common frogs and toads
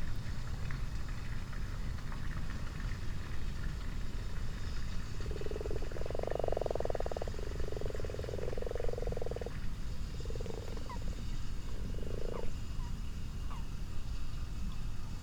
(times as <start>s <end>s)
4.6s 13.7s